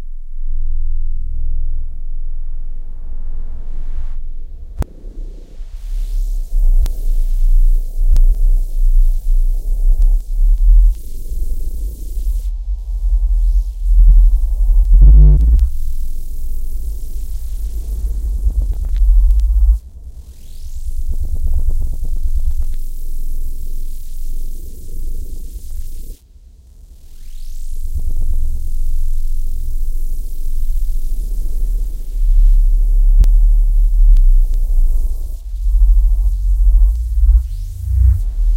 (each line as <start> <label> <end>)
12.6 Bass notes 15.8
31.0 Bass notes 38.5
36.6 glitch 38.5